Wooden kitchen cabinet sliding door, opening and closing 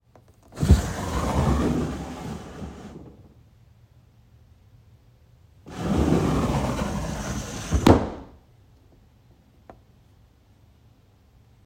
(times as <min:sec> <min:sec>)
0:00.4 0:03.4, 0:05.7 0:08.4